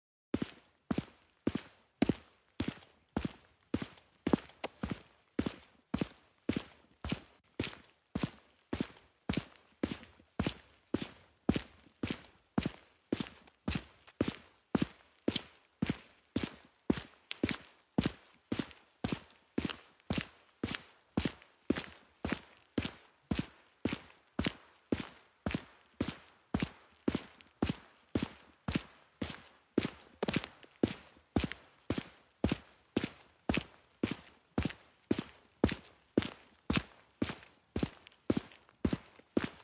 footsteps-concrete-asphalt 0:00.4 - 0:39.6

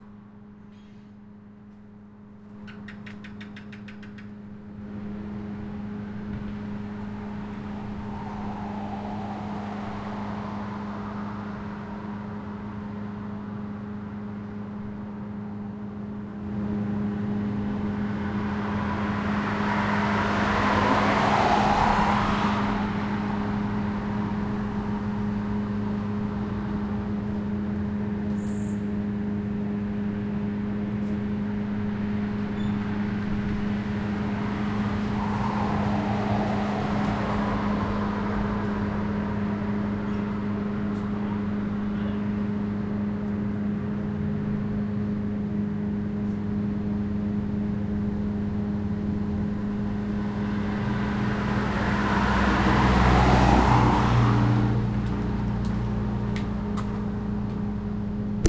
passing cars 0:00.0 - 0:58.4

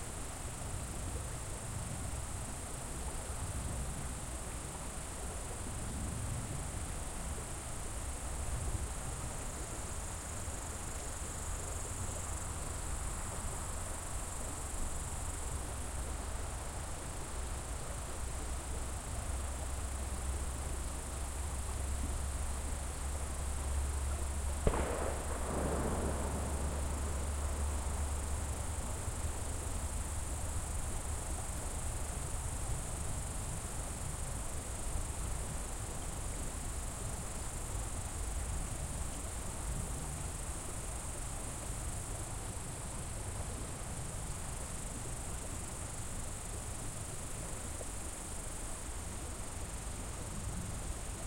crickets 0:00.0 - 0:51.2
river 0:00.0 - 0:51.2
rifle shot 0:24.7 - 0:27.9

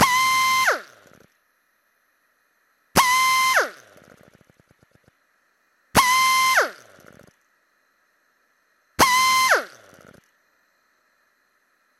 Pneumatic drill 0:00.0 - 0:01.3
Pneumatic drill 0:03.0 - 0:05.1
Pneumatic drill 0:06.0 - 0:07.4
Pneumatic drill 0:09.0 - 0:10.3

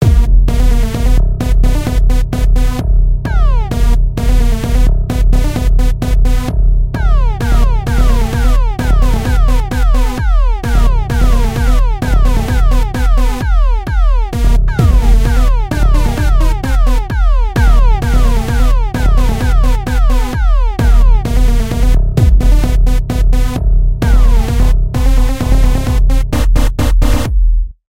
short music 0:00.0 - 0:27.3

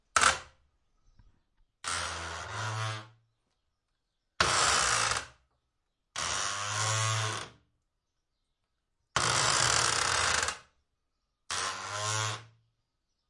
wood window shutter very stiff heavy creak 0:01.8 - 0:03.2
wood window shutter very stiff heavy creak 0:04.4 - 0:05.4
wood window shutter very stiff heavy creak 0:06.1 - 0:07.6
wood window shutter very stiff heavy creak 0:09.1 - 0:10.8
wood window shutter very stiff heavy creak 0:11.4 - 0:12.6

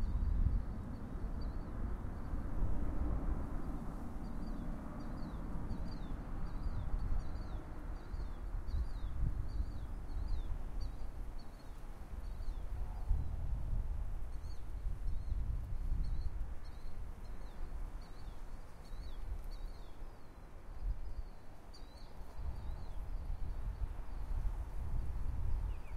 Airbus A330 takeoff 0:00.1 - 0:08.6

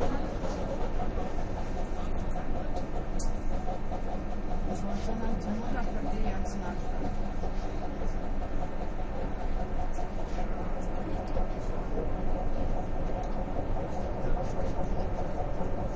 riding an ubahn train 0:00.0 - 0:15.9
people chatting 0:04.7 - 0:07.2

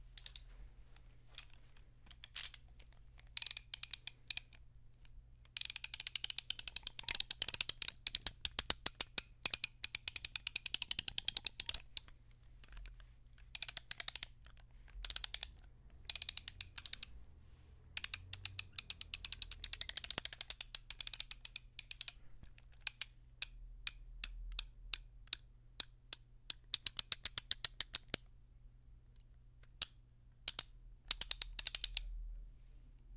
Ratchet being handled 0:00.2 - 0:00.6
Ratchet being handled 0:01.3 - 0:04.6
Ratchet being handled 0:05.5 - 0:17.1
Ratchet being handled 0:17.9 - 0:24.7
Ratchet being handled 0:26.5 - 0:28.2
Ratchet being handled 0:30.5 - 0:32.0

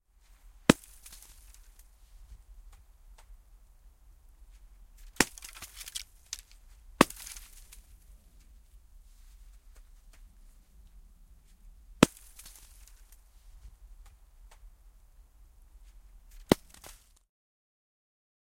Snowballs hitting a tree trunk nearby 0:00.7 - 0:03.3
Snowballs hitting a tree trunk nearby 0:04.5 - 0:08.0
Snowballs hitting a tree trunk nearby 0:12.0 - 0:13.2
Snowballs hitting a tree trunk nearby 0:16.3 - 0:17.2

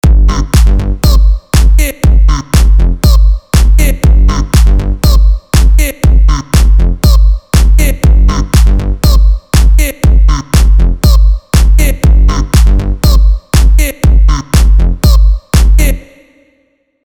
drums 0:00.0 - 0:16.0
bass 0:00.0 - 0:16.0
vocal 0:00.3 - 0:16.8

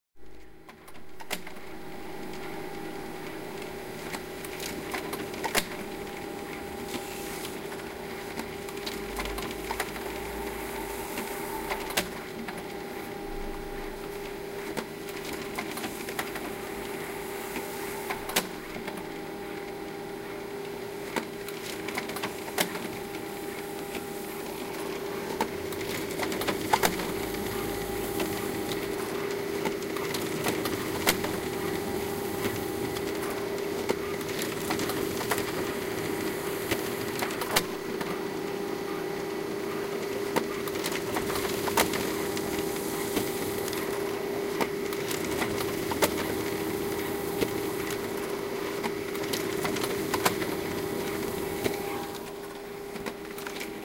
laser printer in successful rhythmic print activity 0:00.2 - 0:53.8

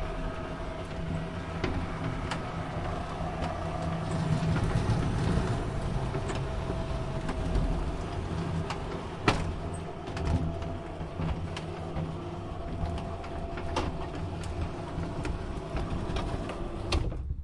electric metallic roller shutter rolling and unrolling 0:00.0 - 0:17.3

